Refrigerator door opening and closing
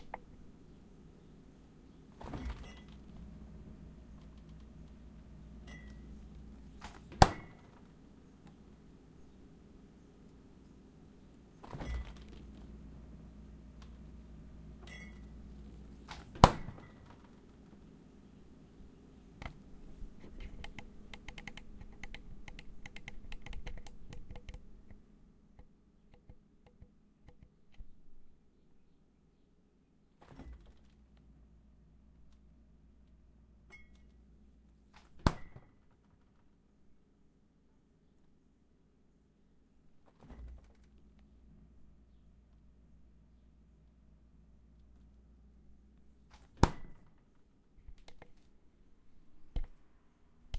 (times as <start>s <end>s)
2.1s 3.2s, 6.8s 7.9s, 11.6s 12.7s, 16.0s 17.5s, 30.2s 31.0s, 35.0s 35.9s, 40.0s 41.0s, 46.3s 47.2s